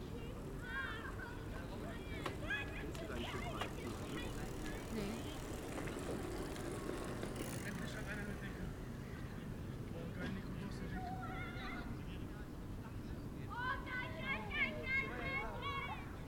Bicycles 0.0 - 16.2
teens gather 0.0 - 16.2
voices 0.0 - 16.2
Engine noise 3.1 - 9.3

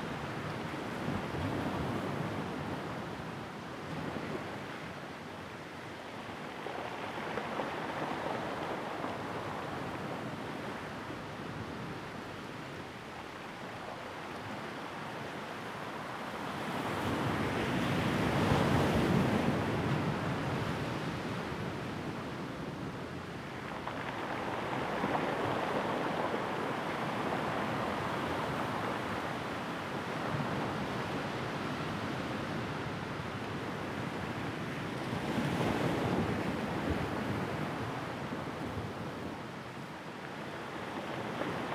waves on pebble-beach2 22.8 - 41.7

